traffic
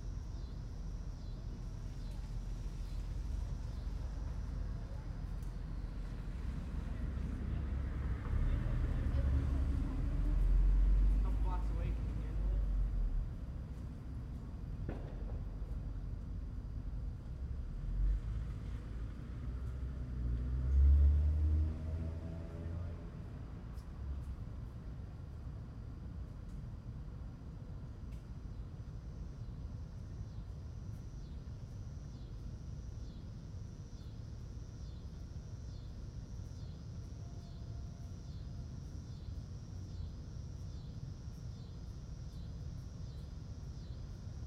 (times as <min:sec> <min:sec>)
0:00.0 0:26.7